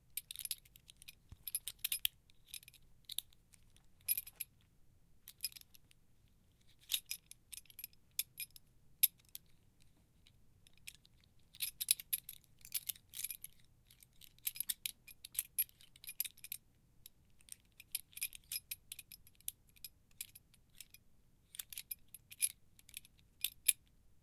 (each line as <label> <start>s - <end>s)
Belt Buckle 0.2s - 4.6s
Belt Buckle 10.6s - 16.6s